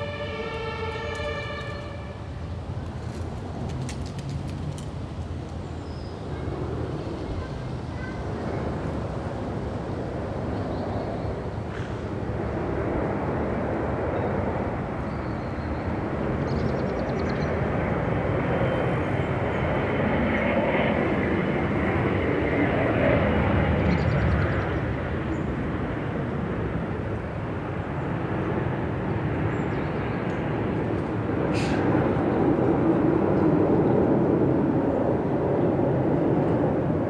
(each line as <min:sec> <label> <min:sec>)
0:00.0 siren 0:02.3
0:00.0 passers-by 0:15.1
0:00.0 airplane 0:37.0
0:07.3 children shouting 0:08.7